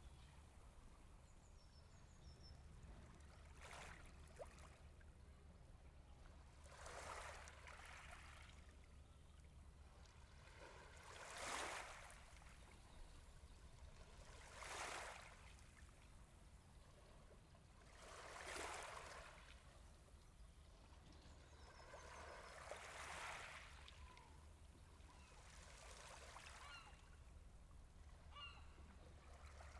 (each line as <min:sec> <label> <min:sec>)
0:00.0 Calm waves 0:29.7